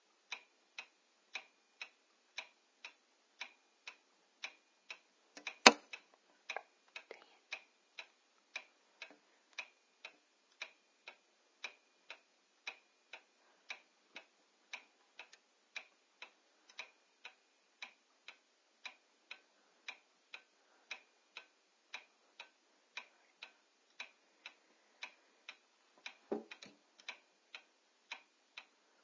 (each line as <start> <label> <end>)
0.0 Clock Ticking 29.0
5.5 it strikes 2 o'clock 6.0
5.6 bump the door of the clock 5.9